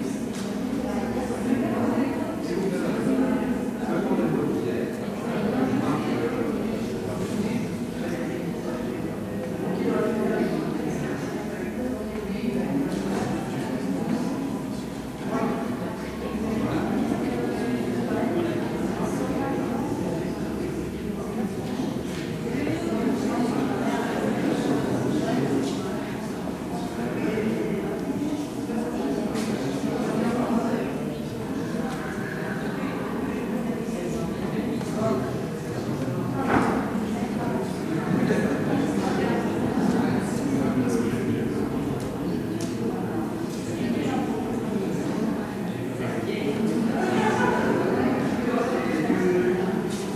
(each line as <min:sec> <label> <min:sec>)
0:00.0 People waiting, talking 0:50.1